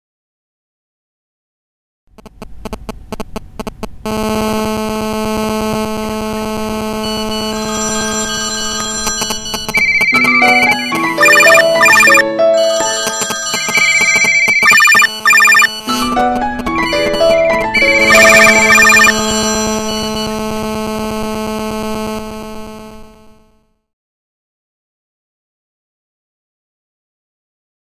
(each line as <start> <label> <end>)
2.2 mobile phone interference 12.2
7.0 cacophony of mobile ringtones and text alerts 20.5
12.8 mobile phone interference 23.5